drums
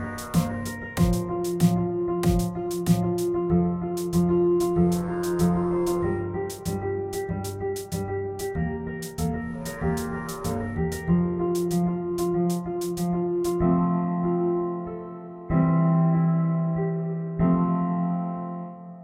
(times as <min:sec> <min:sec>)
0:00.0 0:03.4, 0:04.0 0:05.6, 0:06.5 0:13.6